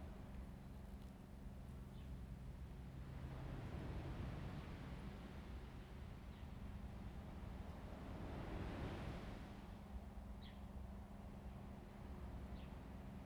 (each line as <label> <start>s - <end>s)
wind 0.0s - 13.2s